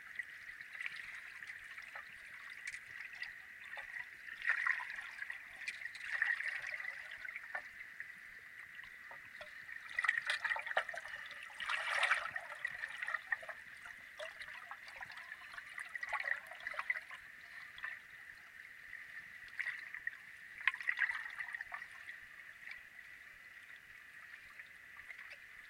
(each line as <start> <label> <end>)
0.0 water 25.6